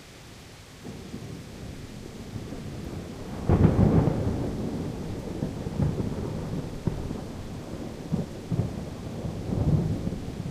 rain 0.0 - 10.5
thunder 0.8 - 10.5

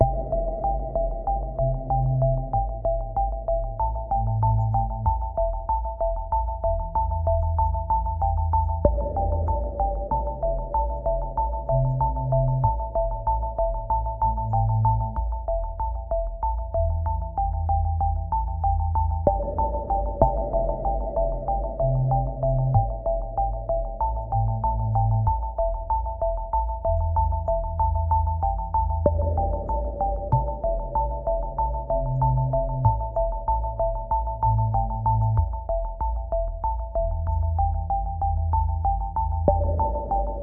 electronic music loop 0.0 - 40.4

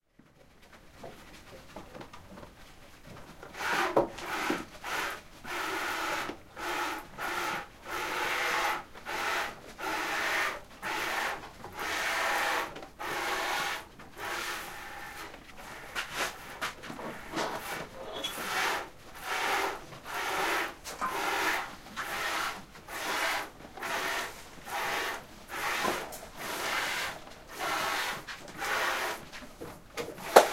goats milking in plastic bucket 0.2 - 30.5

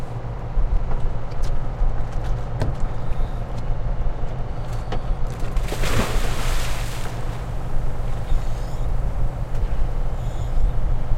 diver jumping into the water 5.5 - 7.7

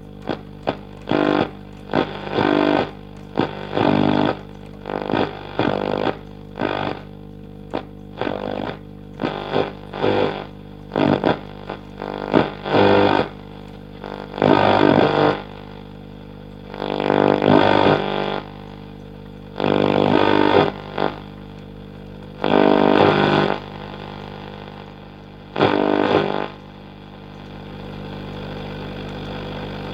vintage Telefunken valve radio being tuned 0.0 - 29.9

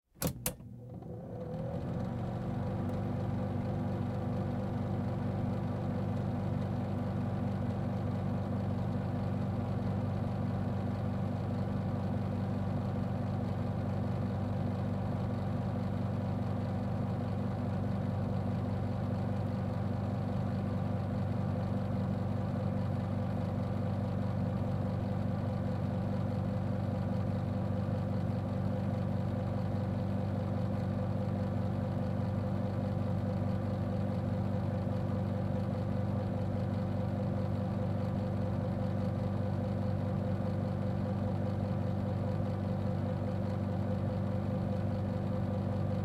Overhead Projector On Run Off Close 0.2 - 2.1

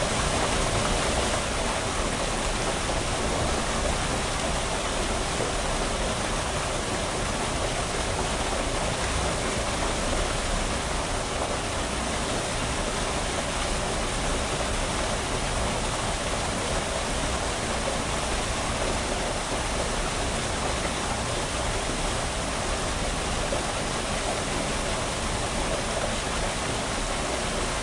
well water surge 0.0 - 27.8

